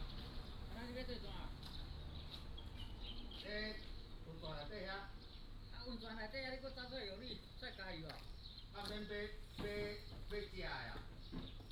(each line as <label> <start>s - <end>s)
Traffic Sound 0.0s - 3.5s
Birds singing 0.0s - 11.7s